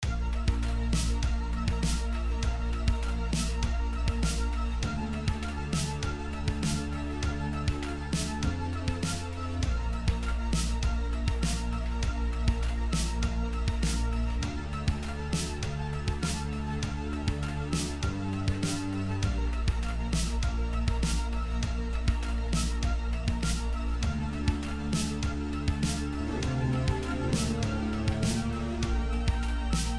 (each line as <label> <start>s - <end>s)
synthesizer 0.0s - 29.9s
drum machine 24.4s - 29.9s